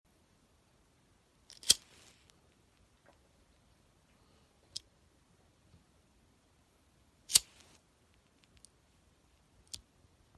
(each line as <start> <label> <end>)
1.5 lighter sparking and lighting 2.4
7.3 lighter sparking and lighting 7.8